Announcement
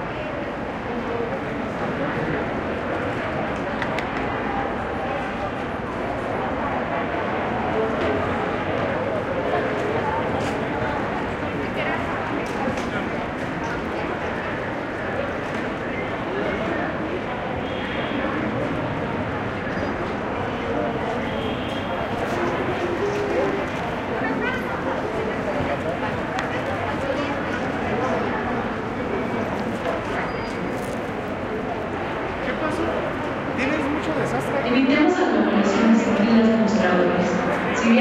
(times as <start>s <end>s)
34.6s 38.0s